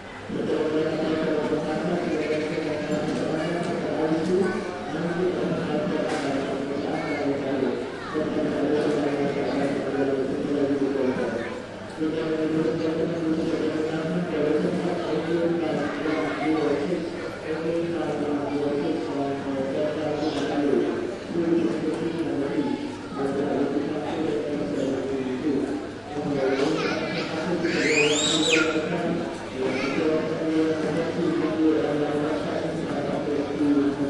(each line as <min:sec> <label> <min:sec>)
0:00.0 airport crowd 0:34.0